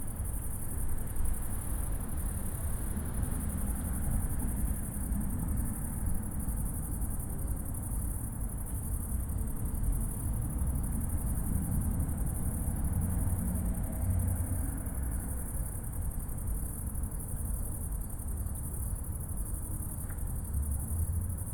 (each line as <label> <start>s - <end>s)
Night crickets 0.0s - 21.5s
cars 10.3s - 15.5s